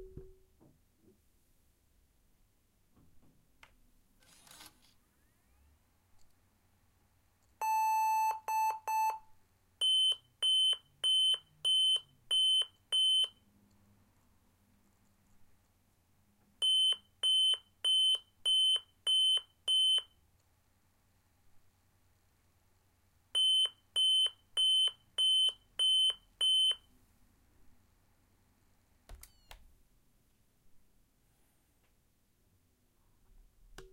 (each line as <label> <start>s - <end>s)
laptop malfunction beeps 7.6s - 9.2s